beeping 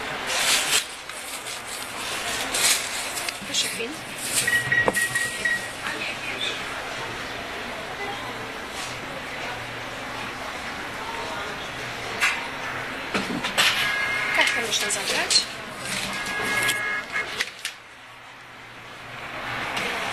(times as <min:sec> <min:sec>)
0:04.4 0:05.9, 0:13.7 0:17.4